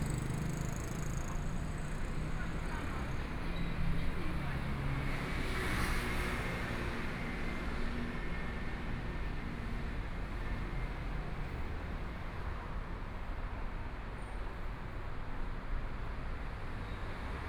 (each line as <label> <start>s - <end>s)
Motorcycle sound 0.0s - 1.4s
Traffic Sound 0.0s - 4.6s